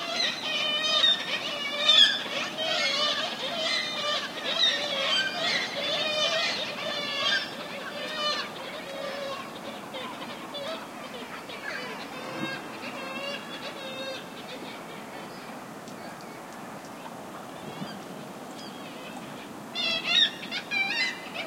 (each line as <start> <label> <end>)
0.0 seagull screeching calls 15.4
0.0 ocean 21.4
19.8 seagull screeching calls 21.4